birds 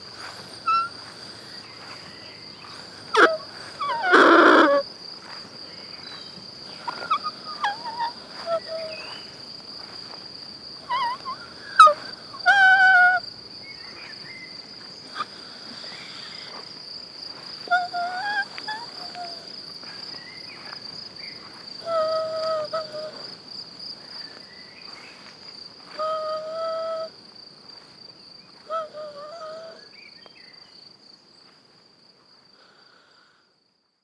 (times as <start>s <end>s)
0.0s 9.4s